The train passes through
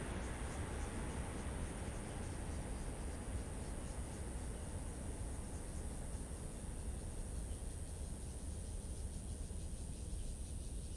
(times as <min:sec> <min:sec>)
0:00.0 0:05.8